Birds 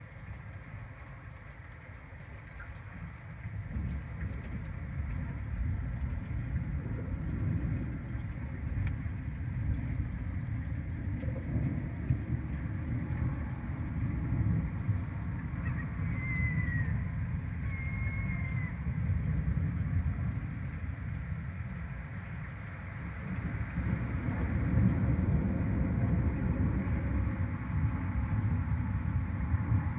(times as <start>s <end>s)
15.1s 18.8s